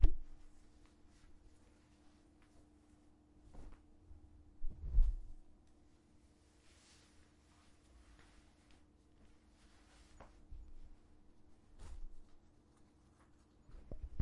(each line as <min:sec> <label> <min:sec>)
0:00.2 Changing clothes 0:05.3
0:06.4 Changing clothes 0:14.2